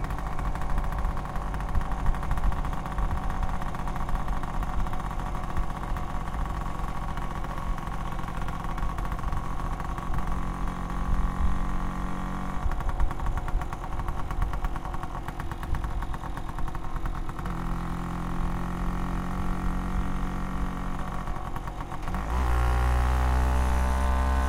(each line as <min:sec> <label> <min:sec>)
0:00.0 scooter 0:24.4